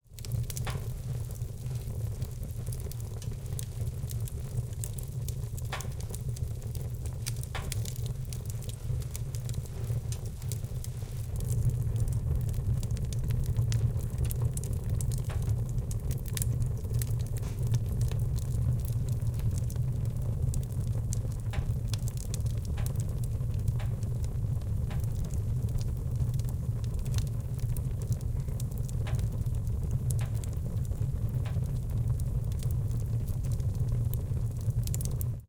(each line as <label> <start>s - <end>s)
heated metal fireplace making expansion torsion sounds 0.1s - 35.4s